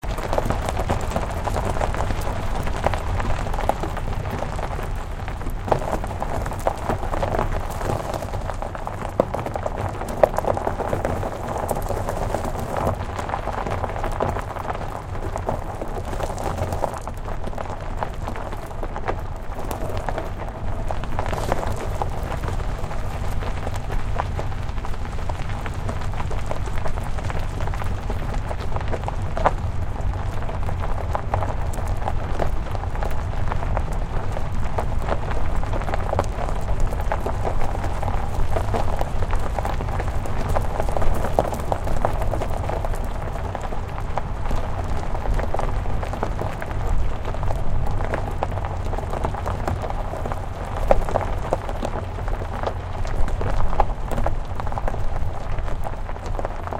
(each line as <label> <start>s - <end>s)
Driving slowly on a gravel or dirt road 0.0s - 56.7s